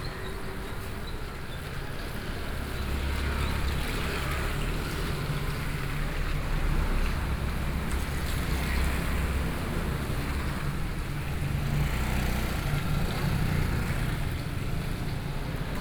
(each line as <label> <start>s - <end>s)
Market selling fruits and vegetables 0.0s - 15.8s
Traffic Sound 0.0s - 15.8s
walking in the Street 0.0s - 15.8s